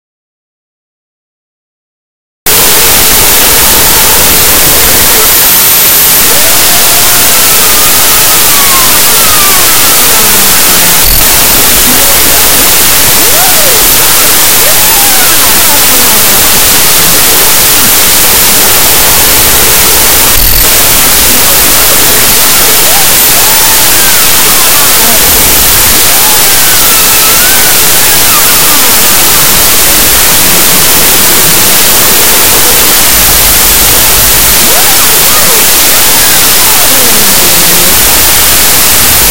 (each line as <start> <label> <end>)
2.5 Static 39.3